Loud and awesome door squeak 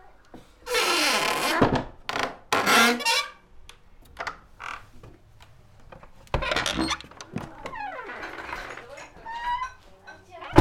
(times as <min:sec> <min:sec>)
0:00.7 0:03.4, 0:06.4 0:09.8